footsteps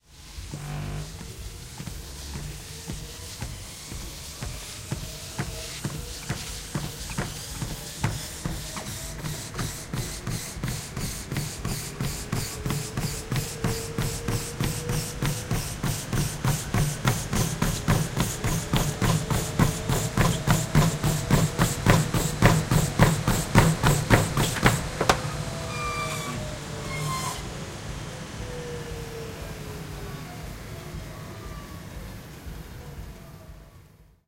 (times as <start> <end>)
0.1 27.5